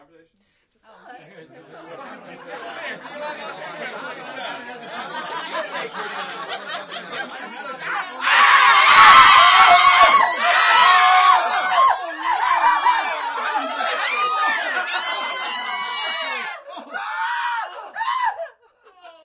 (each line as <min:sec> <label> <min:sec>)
0:00.8 group of people talking 0:17.2
0:07.9 screams 0:18.5